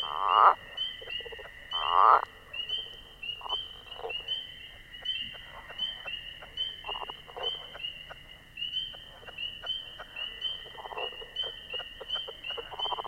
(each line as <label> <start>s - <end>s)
Fowler's toads 0.0s - 13.0s
leopard frogs 0.0s - 13.0s
spring peepers 0.0s - 13.0s